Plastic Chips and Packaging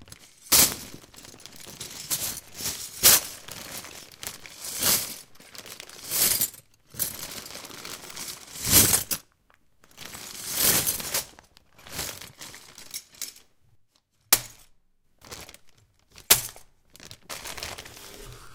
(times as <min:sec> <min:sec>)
0:16.9 0:18.3